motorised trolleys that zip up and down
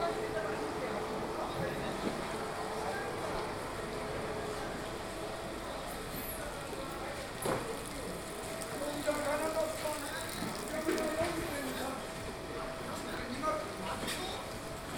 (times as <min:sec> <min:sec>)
0:07.8 0:11.8